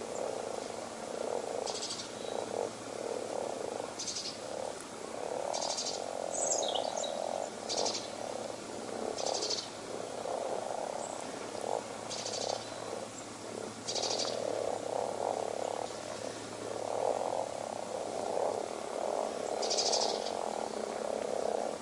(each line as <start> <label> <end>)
0.0 birdsong 2.7
0.0 constant soft purring-croak of the frogs 21.8
3.3 birdsong 4.7
5.4 birdsong 17.4
19.3 birdsong 20.9